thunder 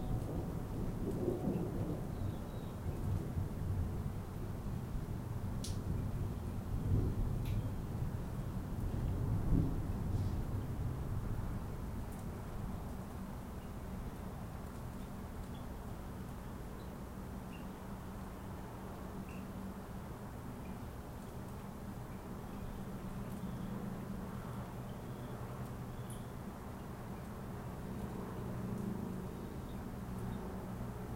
0.0 4.0, 6.8 7.4, 9.2 10.6

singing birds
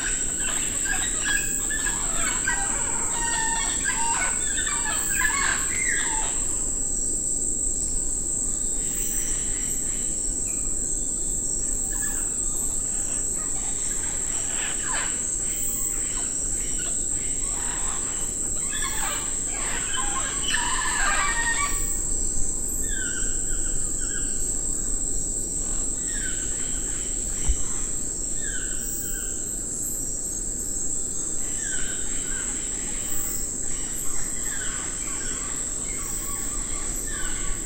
0.0 6.6, 11.3 22.1

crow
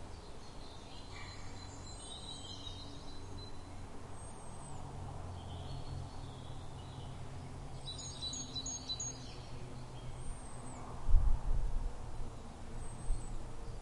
1.1 1.6

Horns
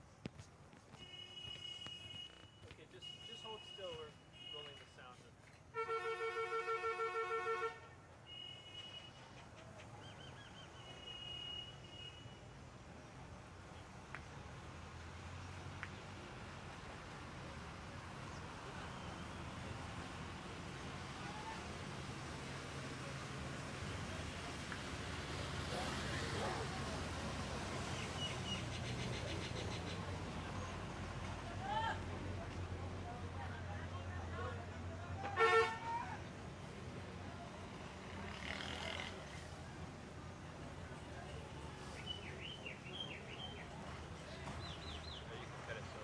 1.0 9.2, 35.2 36.1

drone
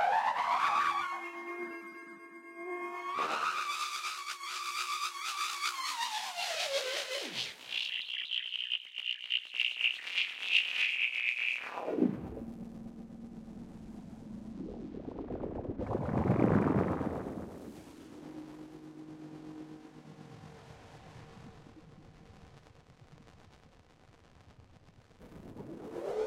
0.0 15.2, 17.5 22.4

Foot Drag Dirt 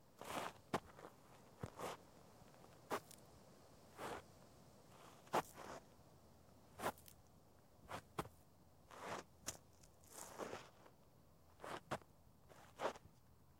0.2 2.0, 2.7 3.2, 4.0 4.3, 6.8 7.2, 7.9 13.0

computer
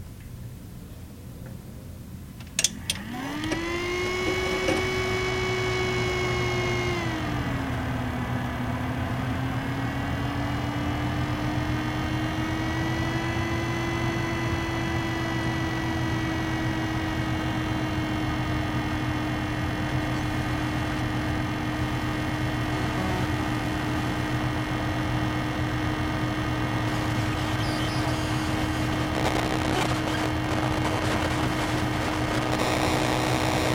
26.8 33.7

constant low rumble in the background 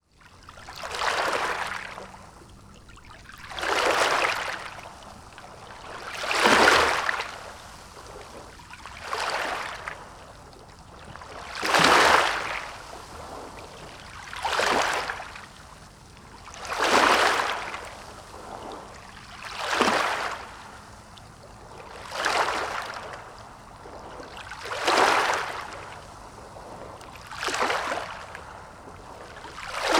0.2 6.2

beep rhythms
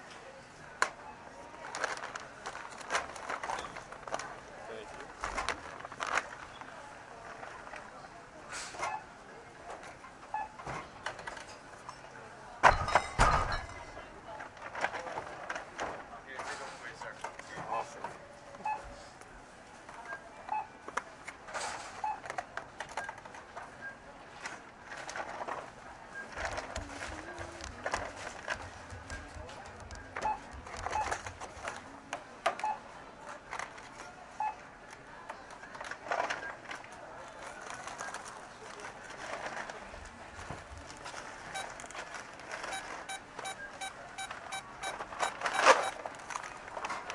42.6 46.0

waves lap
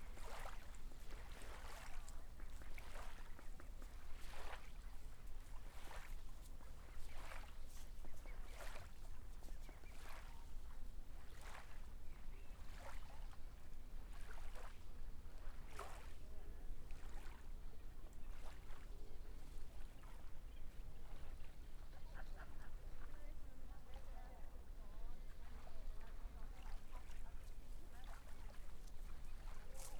25.5 29.9

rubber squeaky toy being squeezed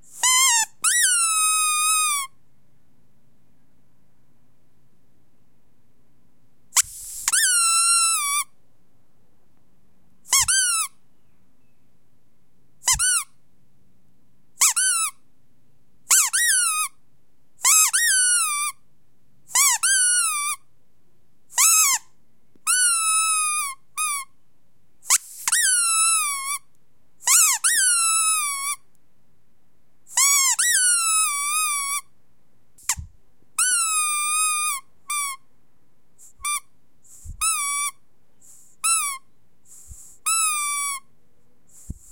0.1 2.4, 6.8 8.5, 10.3 11.0, 12.8 13.4, 14.6 15.2, 16.1 17.0, 17.6 18.8, 19.5 20.6, 21.5 24.3, 25.0 28.9, 30.1 32.1, 32.8 35.4, 36.2 41.1

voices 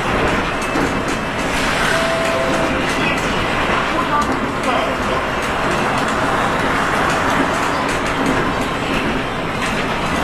1.8 5.5

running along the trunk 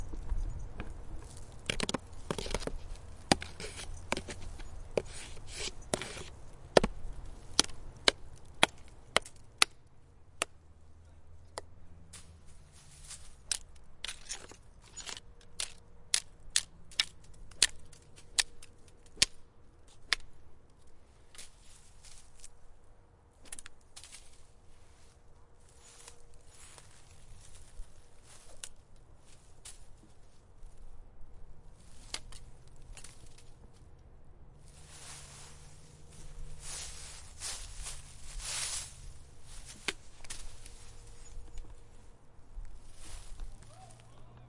0.0 9.2

